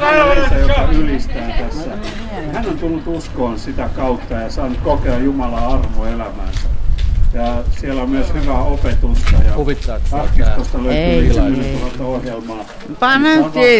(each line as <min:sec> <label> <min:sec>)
0:07.4 praising the Lord 0:13.7